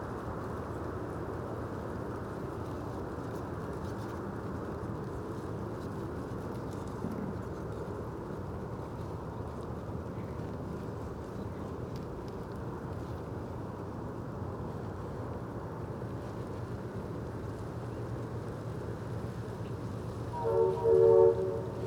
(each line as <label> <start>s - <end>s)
distant tugboat horn 20.3s - 21.8s